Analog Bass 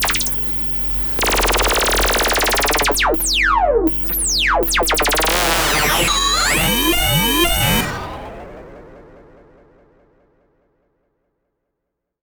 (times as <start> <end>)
0.0 8.4